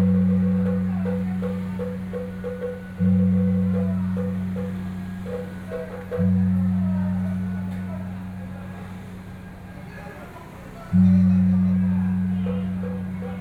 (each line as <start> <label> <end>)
0.0 Traditional temple festivals 13.4